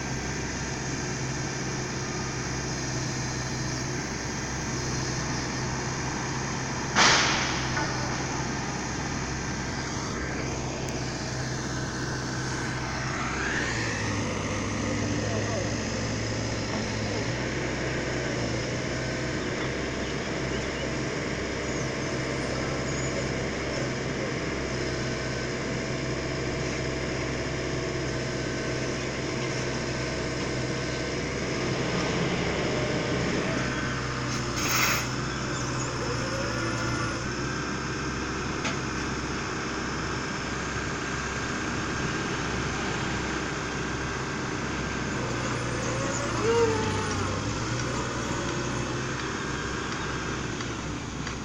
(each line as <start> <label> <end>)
0.0 men at work at a construction site 51.4